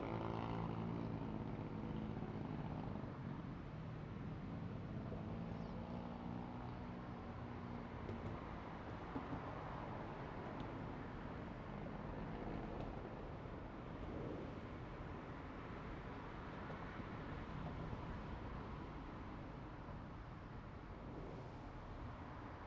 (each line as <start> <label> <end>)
0.0 wind 22.6
7.3 The train runs through 22.6